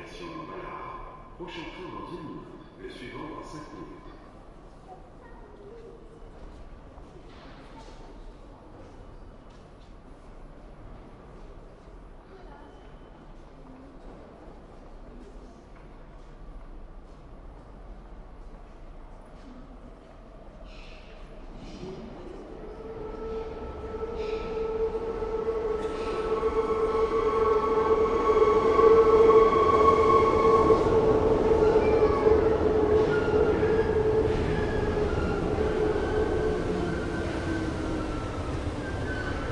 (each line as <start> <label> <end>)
0.0 trains 39.5